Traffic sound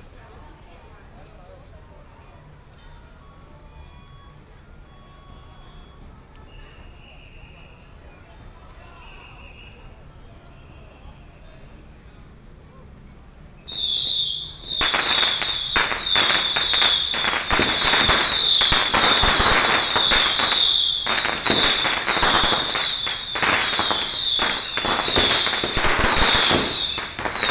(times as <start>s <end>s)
13.2s 27.5s